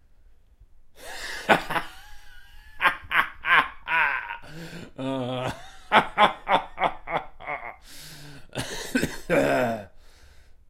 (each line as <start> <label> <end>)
1.0 slightly raw laughter 7.8
4.2 wheezing 5.6
7.7 wheezing 10.6